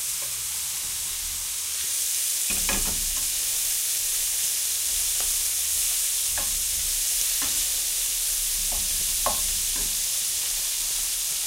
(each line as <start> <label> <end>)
0.0 burning gas 11.4
0.0 sizzling 11.4
2.4 pan (already hot with butter in it) is put on the stove 3.8
2.5 pan is removed from the stove 3.7